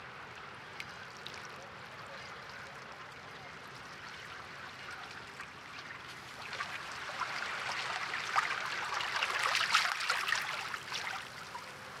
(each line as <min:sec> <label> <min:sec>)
0:00.0 Water 0:12.0